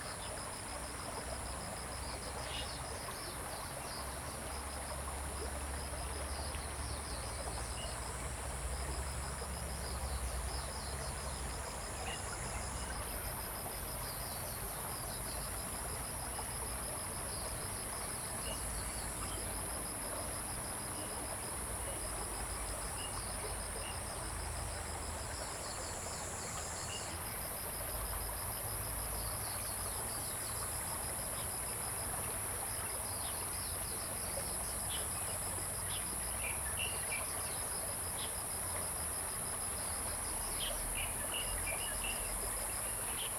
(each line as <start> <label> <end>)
0.0 Stream 43.3